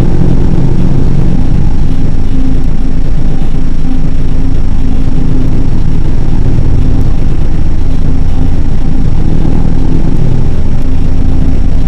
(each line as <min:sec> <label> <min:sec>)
0:00.0 drone 0:11.8
0:00.0 processed drum machine 0:11.8